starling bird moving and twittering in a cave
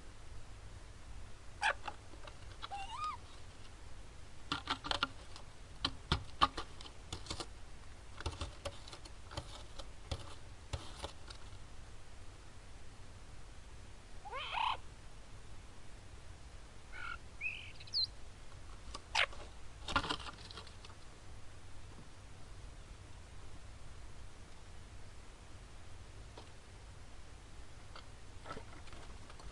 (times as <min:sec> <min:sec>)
0:16.9 0:21.1